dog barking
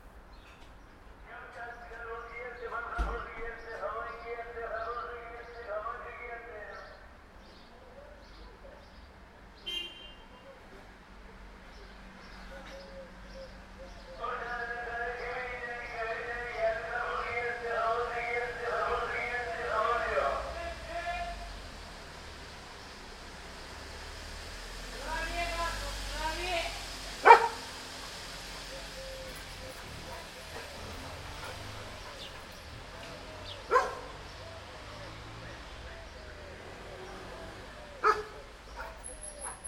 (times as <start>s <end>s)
27.2s 27.8s, 33.6s 34.2s, 38.0s 39.6s